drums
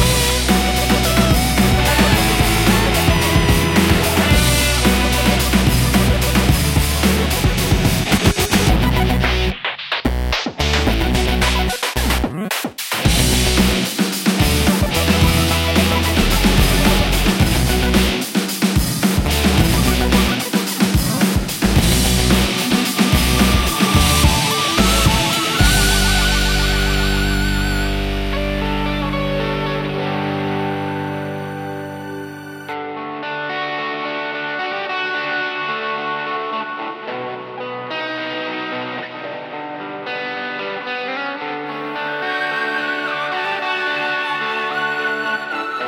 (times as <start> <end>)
0.0 32.7